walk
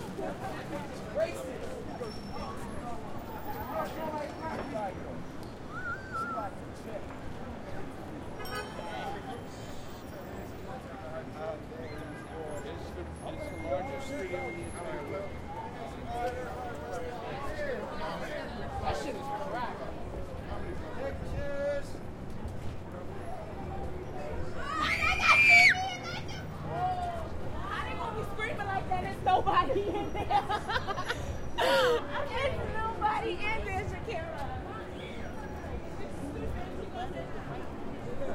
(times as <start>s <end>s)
21.8s 24.0s